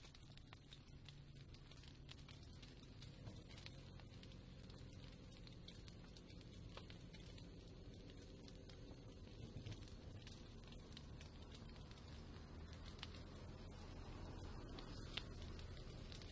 0.0s bonfire 16.3s
0.0s cars 16.3s

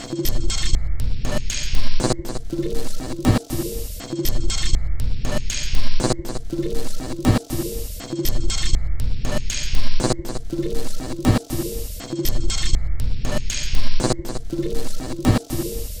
0.0s Drum Loop 16.0s

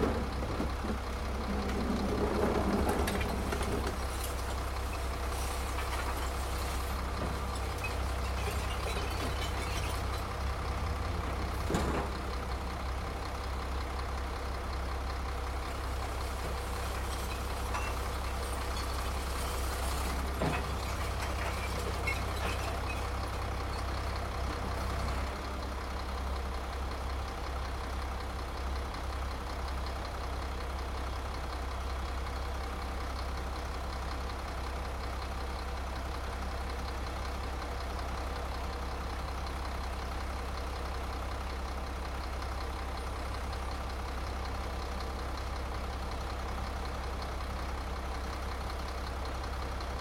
0.0s recycling truck picks up the recycling 50.0s

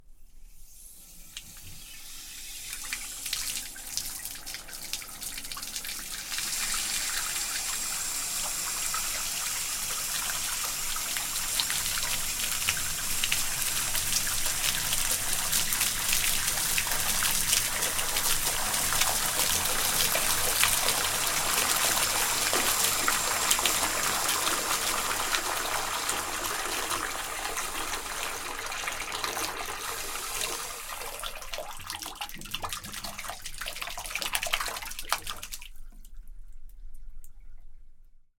1.5s pouring water into the bath 36.2s

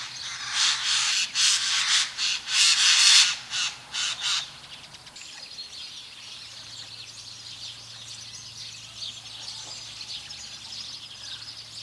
0.0s birds singing 11.8s

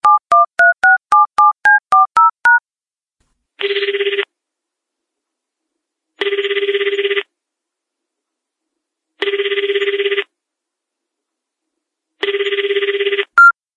3.6s telephone 4.3s
6.2s telephone 7.3s
9.2s telephone 10.3s
12.2s telephone 13.6s

